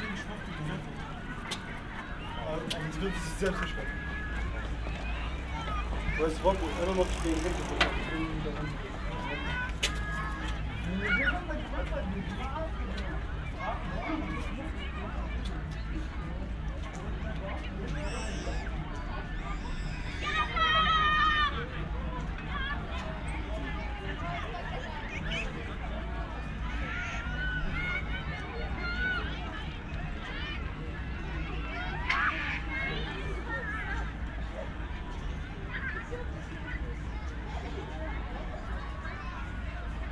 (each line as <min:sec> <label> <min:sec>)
0:00.0 passers-by 0:20.8
0:00.0 distant crowded field 0:40.1